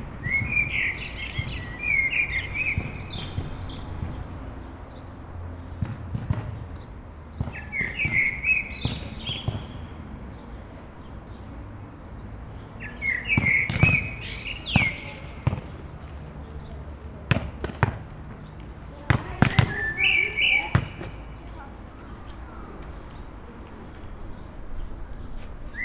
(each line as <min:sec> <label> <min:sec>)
0:00.2 birds 0:25.8
0:13.0 chatting 0:16.0
0:13.4 bouncing ball 0:16.2
0:17.3 bouncing ball 0:18.4
0:19.1 bouncing ball 0:19.8
0:20.7 bouncing ball 0:21.2